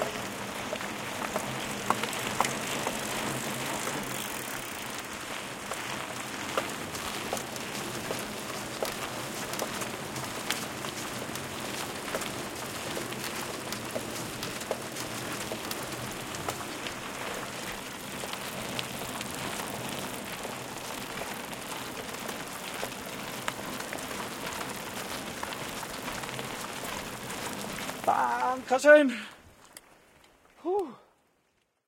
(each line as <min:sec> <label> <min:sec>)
0:00.0 bikes downhilling a road 0:31.8